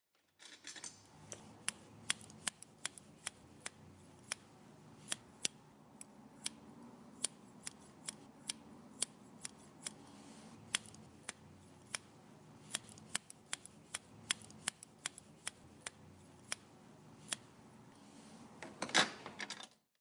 haircutting scissors snipping away 0:01.6 - 0:04.4
haircutting scissors snipping away 0:10.7 - 0:12.1
haircutting scissors snipping away 0:12.7 - 0:16.6

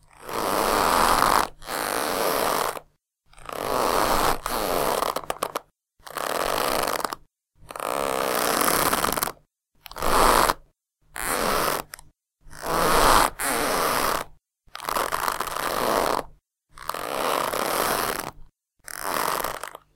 creaky leather boots 0:00.0 - 0:10.6
creaky leather boots 0:12.6 - 0:19.9

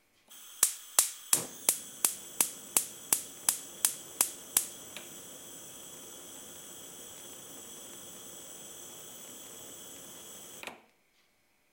gas burner 0:00.3 - 0:10.8

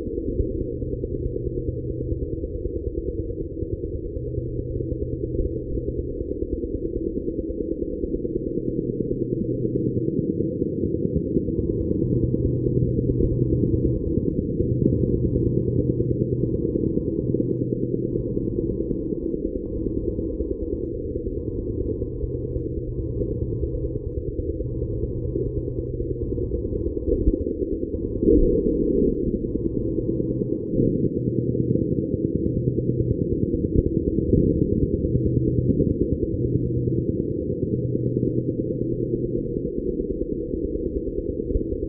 drone 0:00.0 - 0:41.8
hyperdrive 0:11.5 - 0:32.2

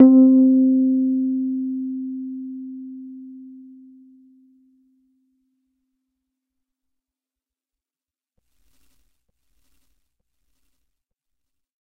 Individual notes from my Rhodes 0:00.0 - 0:04.6

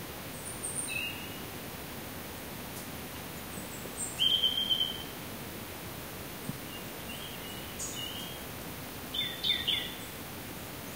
wind 0:00.0 - 0:10.9
insect 0:00.1 - 0:10.9
bird 0:04.0 - 0:05.1
bird 0:09.1 - 0:10.1

